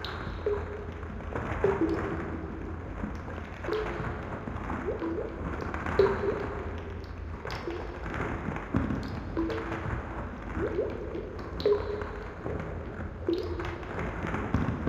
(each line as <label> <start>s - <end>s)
trickle 0.0s - 14.8s
water 0.0s - 14.8s